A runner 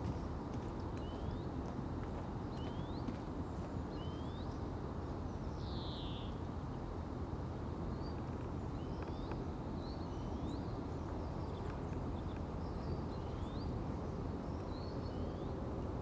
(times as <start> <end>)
0.0 3.8